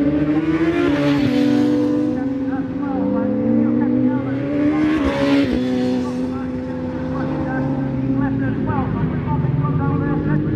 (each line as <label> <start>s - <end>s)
British Superbikes 0.0s - 10.5s